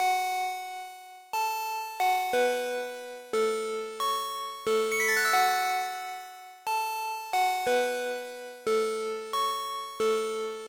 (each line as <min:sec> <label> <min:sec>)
0:03.7 bells made with sine wave with pitch bend 0:10.2